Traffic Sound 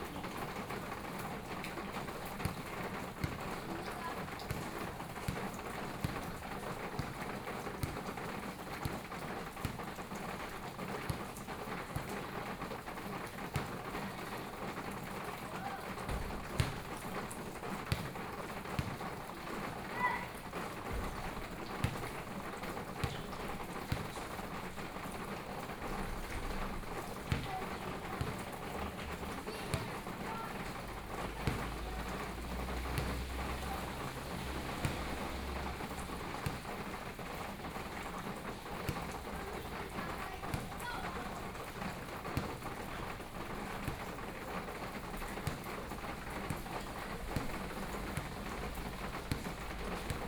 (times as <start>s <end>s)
30.8s 39.7s